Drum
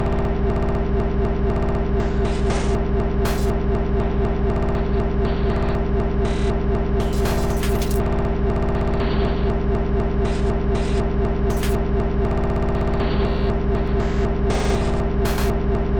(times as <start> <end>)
1.6 3.7, 6.3 8.0, 10.3 11.8, 13.0 15.6